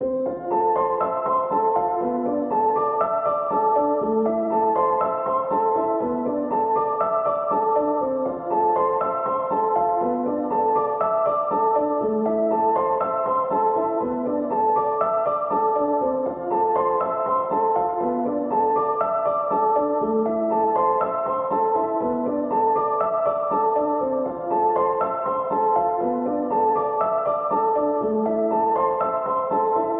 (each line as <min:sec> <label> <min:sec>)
0:00.0 piano 0:29.9